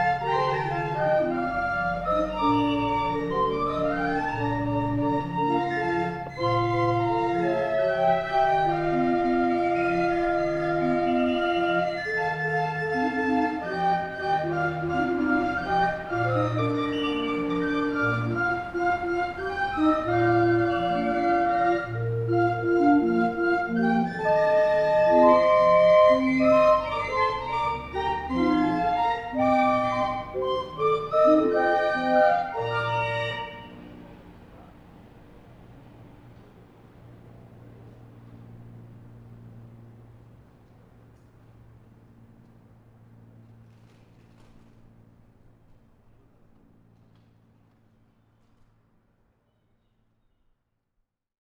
musician playing in rue henri regnault orgue de barbarie 0.0 - 40.0

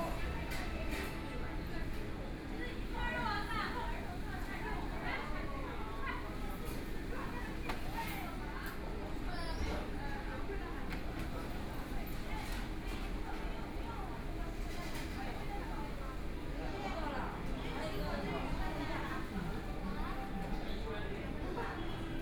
crowd 0.0 - 22.2

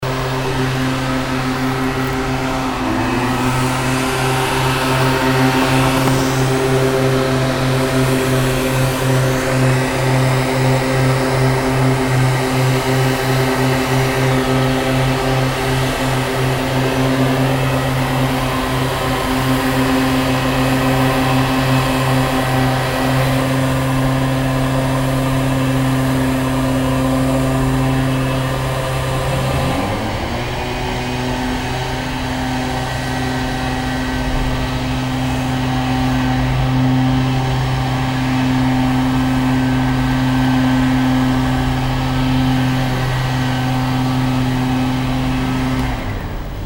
air blower 0.0 - 46.6

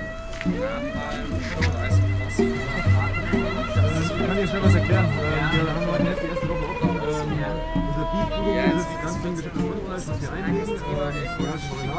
bikes 0.0 - 9.5
cars 0.0 - 11.9
musicians playing 0.0 - 11.9
pedestrians 0.0 - 11.9

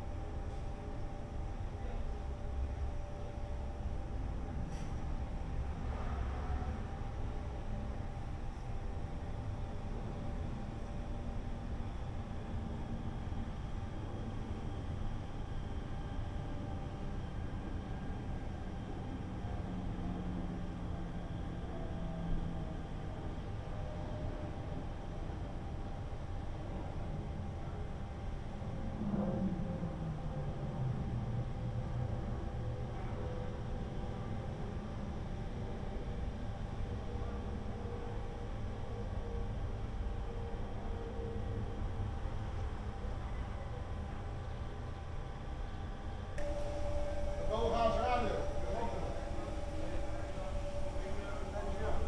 machines 44.0 - 52.0
workers chatting 46.4 - 52.0

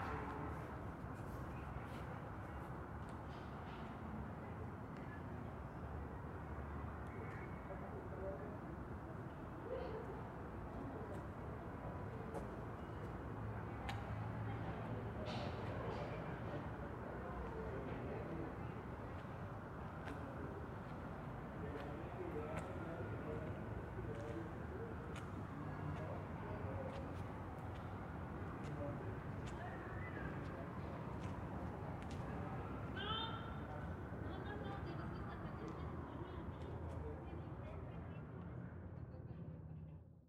light wind 0.0 - 40.2
people walking 19.0 - 32.9
people talking 28.6 - 38.2

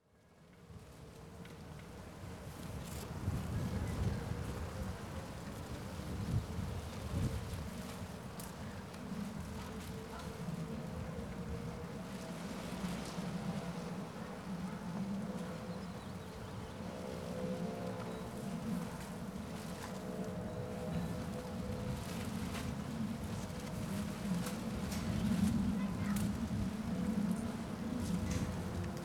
pieces of wrap flutter in the strong wind 0.1 - 29.0
fence of the construction site rattles in the wind 0.5 - 29.0

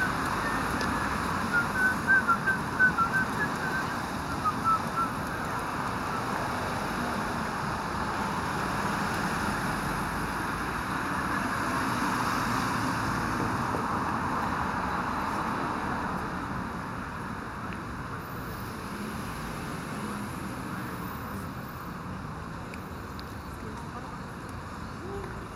Busy Crossroad 0.0 - 25.5
whistling man 0.4 - 5.2

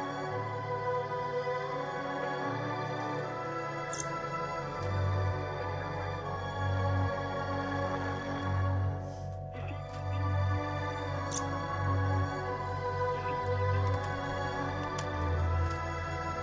playing the tapes 2.9 - 16.4

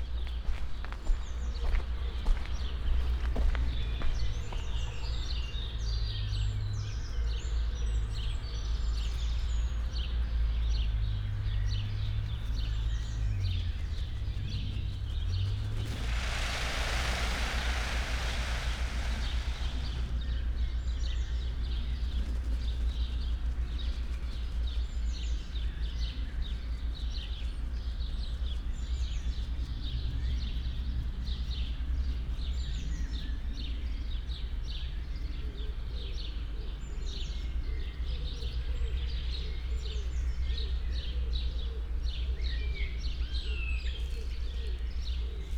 doves 0.0 - 45.5
feathers 13.8 - 20.9
peacock love dance 14.9 - 20.6

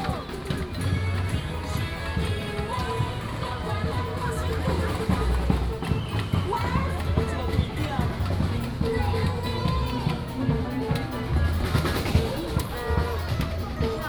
Variety show 0.0 - 14.0

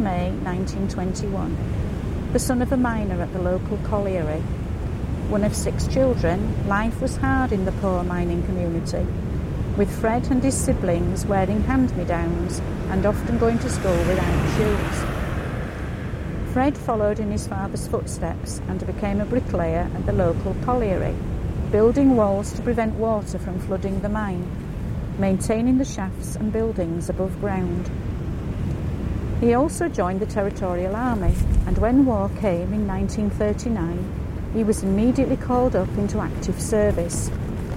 large wave hitting the sea wall 13.0 - 16.5

